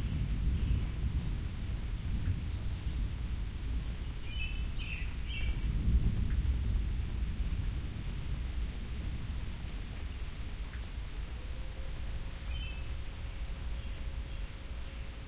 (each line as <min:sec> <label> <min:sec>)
0:00.0 Thunder 0:04.0
0:00.0 Rain 0:15.2
0:05.4 Thunder 0:09.9